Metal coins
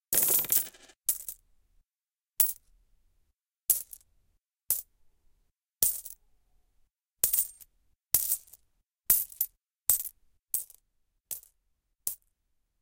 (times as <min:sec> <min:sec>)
0:00.1 0:01.4